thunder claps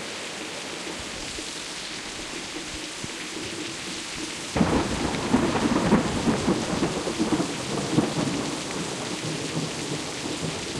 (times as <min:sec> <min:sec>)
0:04.6 0:10.7